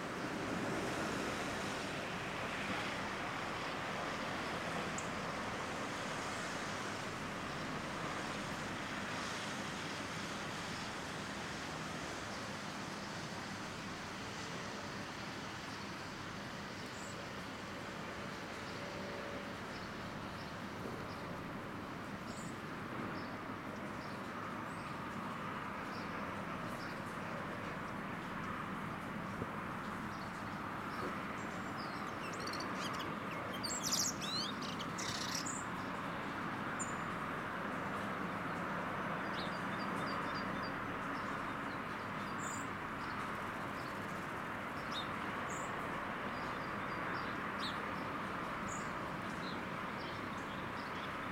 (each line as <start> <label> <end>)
0.0 Highway 51.3
29.8 birds 36.1